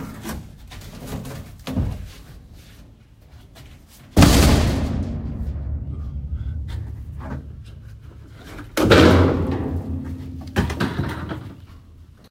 throwing stuff in dumpster booms 4.2 - 11.6

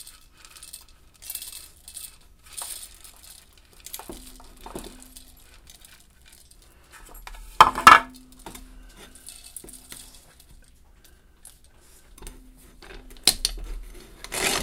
Antique hand coffee grinder grinding 0.0 - 6.6
Antique hand coffee grinder grinding 13.4 - 14.6

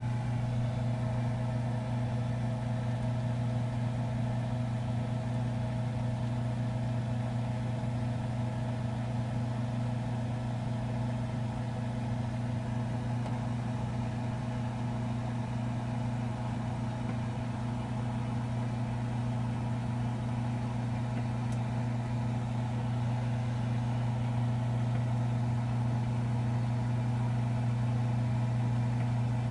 Freezer hum 0.0 - 29.5

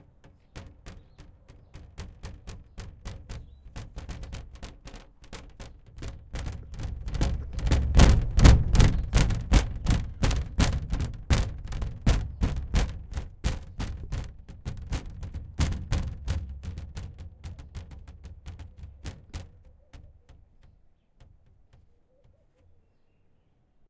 tapping on a sheet of plastic with different amounts of force 0.0 - 22.8

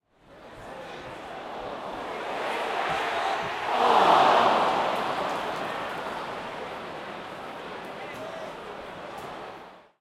cheers 1.2 - 6.5

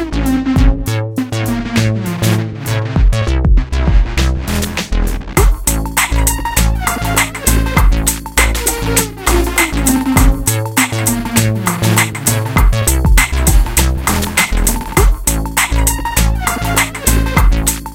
bass 0.0 - 17.9
drum 0.5 - 17.9
synth 5.4 - 17.9

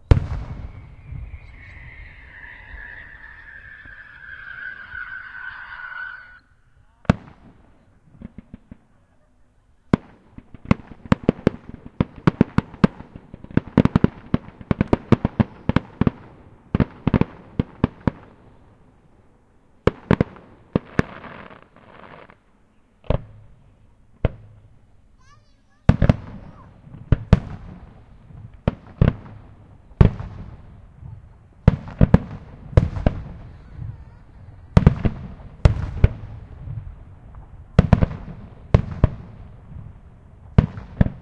Fireworks 0.0 - 4.3
Blowholes 0.8 - 6.5
Fireworks 6.9 - 19.0
Fireworks 19.8 - 22.4
Fireworks 23.0 - 23.6
Fireworks 24.2 - 41.2

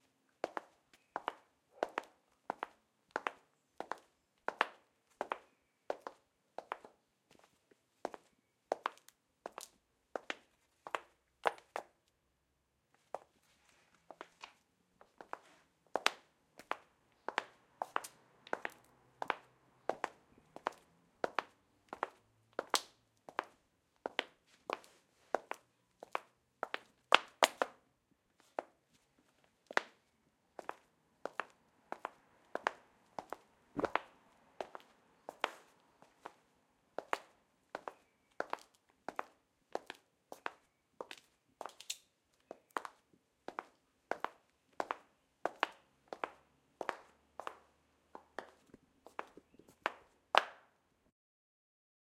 High Heels walking 30.6 - 36.4

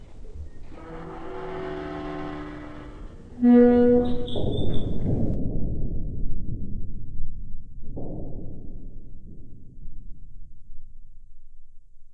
creaks, metal stress 0.0 - 5.4

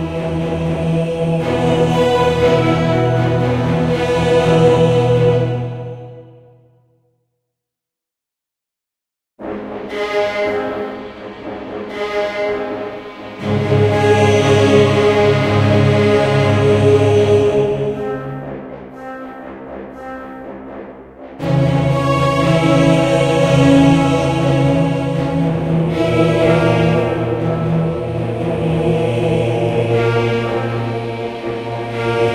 Strings 0.0 - 6.3
Bass 0.0 - 6.4
Brass 0.0 - 6.5
Brass 9.4 - 32.3
Strings 9.4 - 32.3
Bass 13.4 - 19.0
Bass 19.8 - 32.3

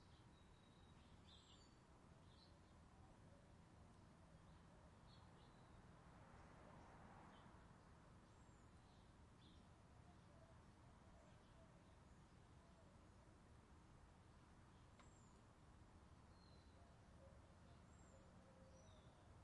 Birds 14.6 - 19.4

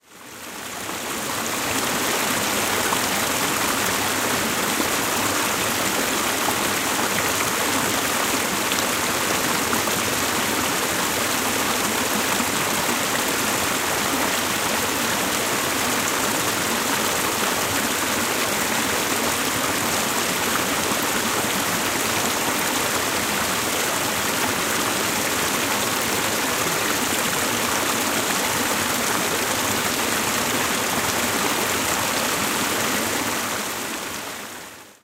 Water Flowing Through Very Close Rapids 0.0 - 35.0

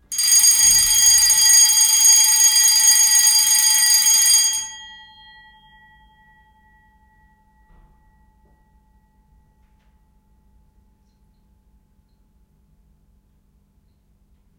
fire alarm 0.0 - 6.1
ringing after it is switched off 0.1 - 10.1

